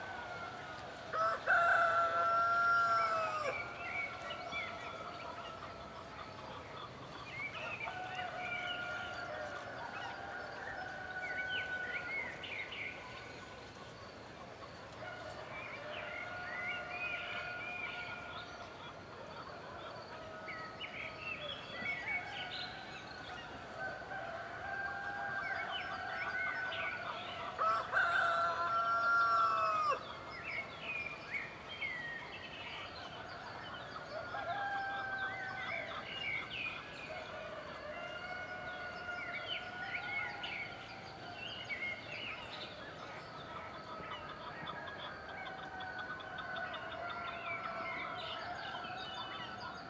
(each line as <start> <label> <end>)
0.0 Dawn (rooster) chorus 6.1
7.6 Dawn (rooster) chorus 13.2
14.9 Dawn (rooster) chorus 31.6
32.4 Dawn (rooster) chorus 49.8